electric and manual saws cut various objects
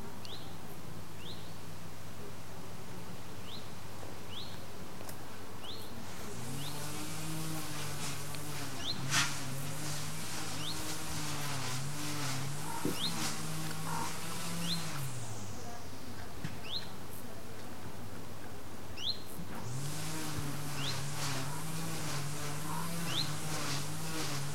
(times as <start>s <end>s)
6.1s 15.6s, 19.5s 24.5s